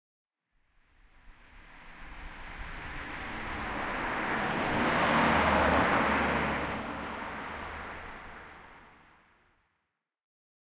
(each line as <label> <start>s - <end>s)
car coming 1.3s - 9.4s